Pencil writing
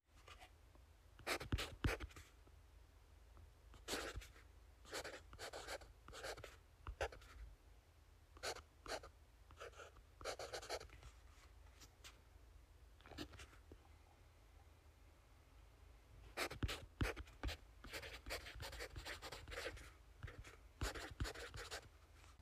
1.2 2.2, 3.8 4.3, 4.9 7.4, 8.4 10.9, 16.4 21.9

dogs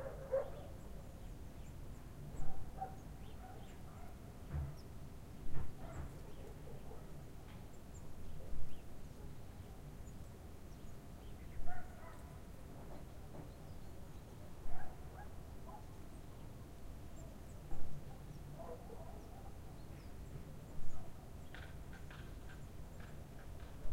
0.0 0.8, 2.4 4.2, 5.8 7.1, 11.7 12.3, 14.7 15.9, 18.6 19.6

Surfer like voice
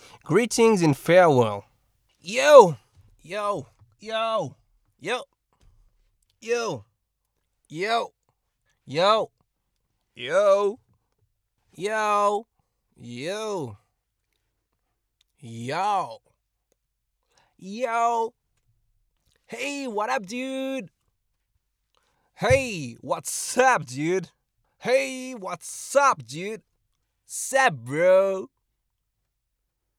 0.3 1.6, 2.3 3.6, 22.4 24.1

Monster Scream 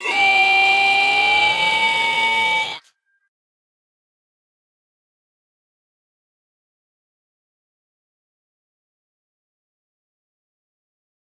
0.0 2.9

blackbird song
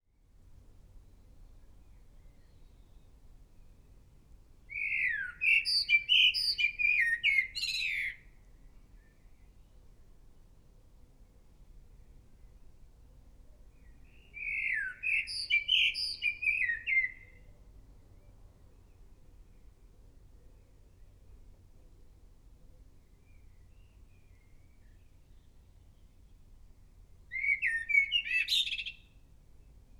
1.2 4.1, 4.7 10.0, 13.4 21.6, 22.6 29.9

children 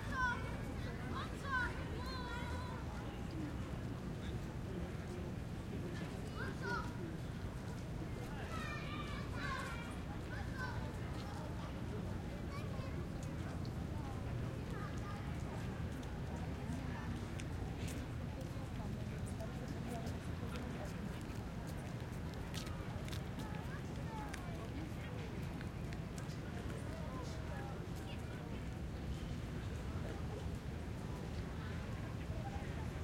0.0 3.4, 6.2 7.1, 8.2 16.0

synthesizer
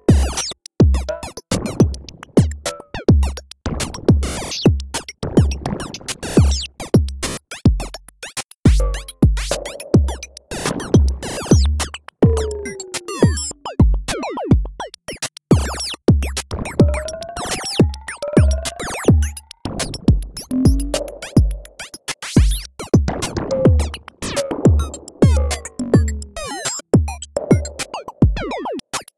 8.7 14.6, 16.6 28.8

